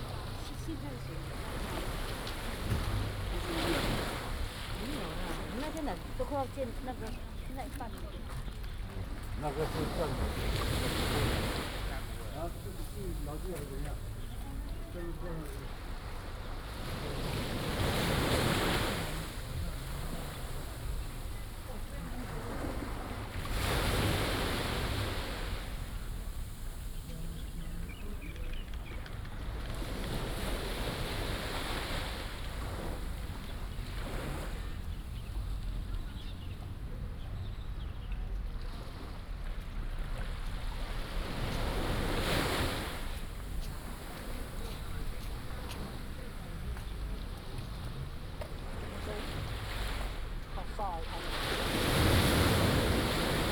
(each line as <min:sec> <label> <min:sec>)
0:00.0 Tourist 0:37.4
0:00.0 Tide 0:53.5
0:41.3 Tourist 0:53.5